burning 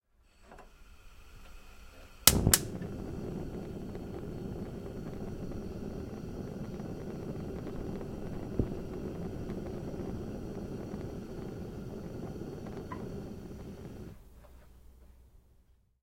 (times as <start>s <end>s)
2.1s 14.2s